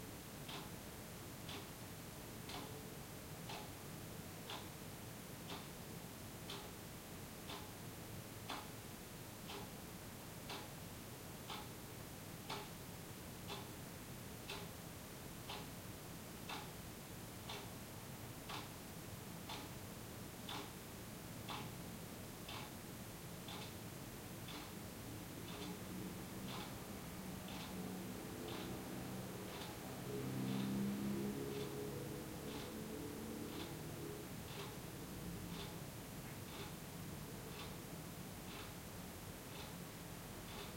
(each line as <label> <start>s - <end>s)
soft city noises 0.0s - 40.7s
clock is ticking 0.4s - 4.8s
clock is ticking 5.4s - 9.8s
clock is ticking 10.4s - 10.8s
clock is ticking 11.4s - 13.8s
clock is ticking 14.4s - 15.8s
clock is ticking 16.4s - 40.7s
sporadic traffic 25.1s - 37.5s